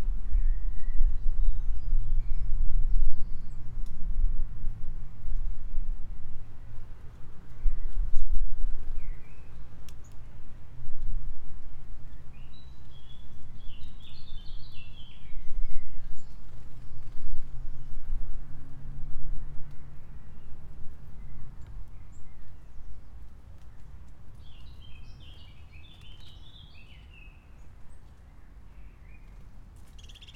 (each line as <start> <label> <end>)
11.6 birds 18.0
19.6 birds 30.3